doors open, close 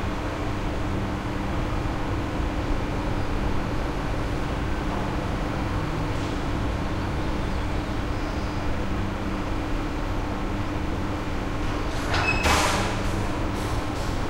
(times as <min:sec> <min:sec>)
0:11.6 0:14.2